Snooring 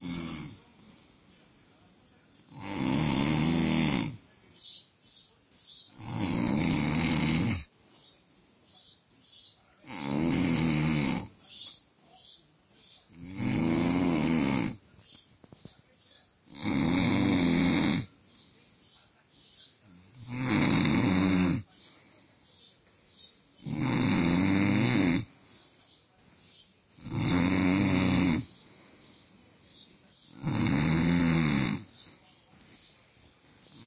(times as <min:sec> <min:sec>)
0:00.0 0:00.7, 0:02.5 0:04.3, 0:05.9 0:07.7, 0:09.8 0:11.4, 0:13.0 0:14.8, 0:16.5 0:18.2, 0:19.9 0:21.7, 0:23.6 0:25.4, 0:26.9 0:29.3, 0:30.2 0:32.3